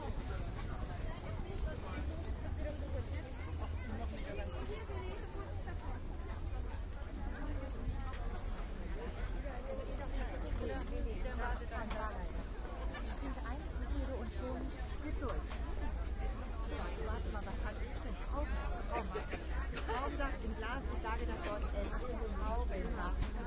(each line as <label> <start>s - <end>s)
mostly women talk 0.0s - 23.4s